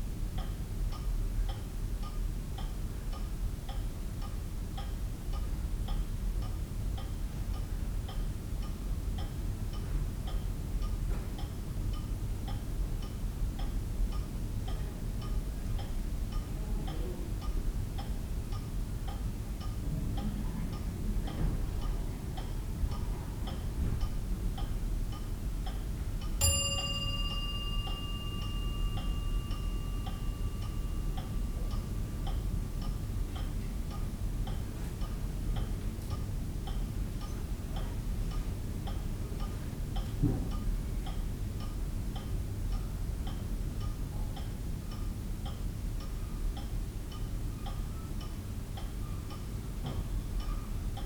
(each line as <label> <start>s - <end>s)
church clock chiming 26.4s - 34.1s
wall clock ticking and chiming 26.4s - 36.8s